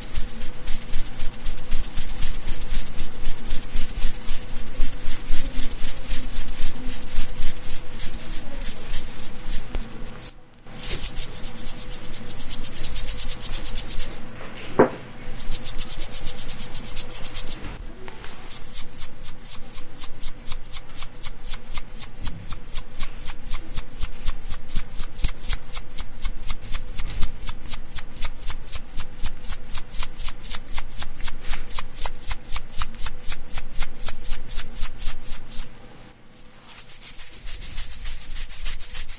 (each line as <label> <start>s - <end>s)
Shaker sound 0.0s - 39.1s